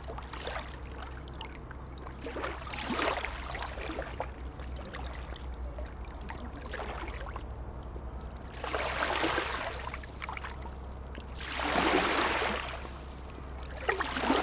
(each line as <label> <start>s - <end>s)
barge is passing 0.0s - 14.4s
a lot of waves 11.4s - 14.4s